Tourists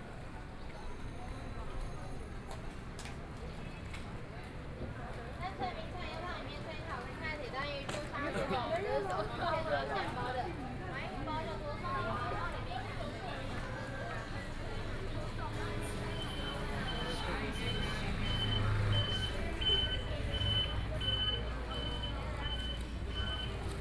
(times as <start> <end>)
7.9 23.8